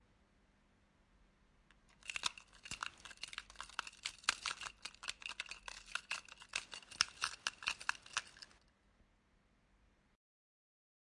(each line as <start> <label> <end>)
2.0 keys jingling 8.6